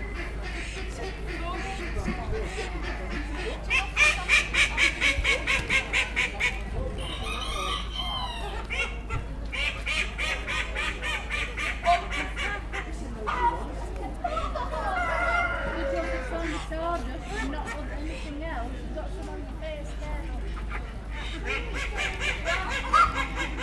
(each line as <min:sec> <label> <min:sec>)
0:00.0 voices 0:23.6
0:00.0 ducks 0:18.2
0:00.1 chickens 0:18.2
0:20.2 ducks 0:23.6
0:20.3 chickens 0:23.6